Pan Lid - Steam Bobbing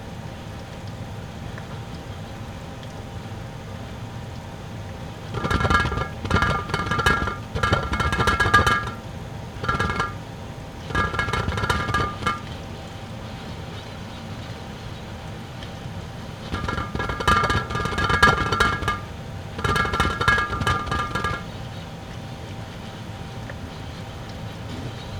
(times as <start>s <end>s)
5.2s 13.4s, 16.3s 21.8s